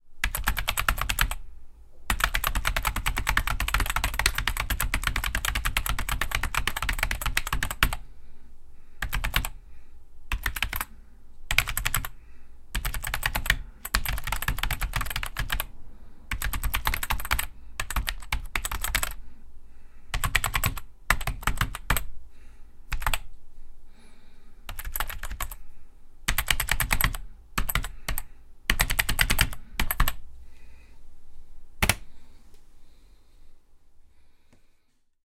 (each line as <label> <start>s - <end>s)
Typing on Apple pro keyboard 0.2s - 1.4s
Typing on Apple pro keyboard 2.1s - 8.0s
Typing on Apple pro keyboard 9.0s - 9.6s
Typing on Apple pro keyboard 10.3s - 10.9s
Typing on Apple pro keyboard 11.5s - 12.2s
Typing on Apple pro keyboard 12.8s - 15.7s
Typing on Apple pro keyboard 16.3s - 19.2s
Typing on Apple pro keyboard 20.1s - 22.1s
Typing on Apple pro keyboard 22.9s - 23.3s
Typing on Apple pro keyboard 24.7s - 25.6s
Typing on Apple pro keyboard 26.3s - 30.2s